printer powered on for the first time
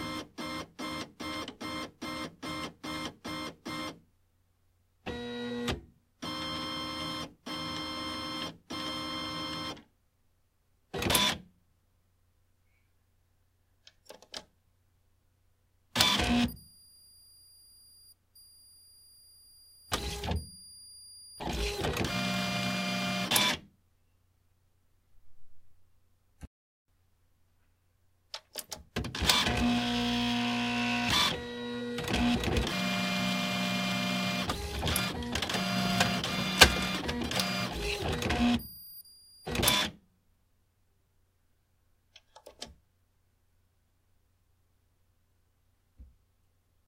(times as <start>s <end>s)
19.9s 20.5s, 21.4s 23.6s, 29.2s 38.7s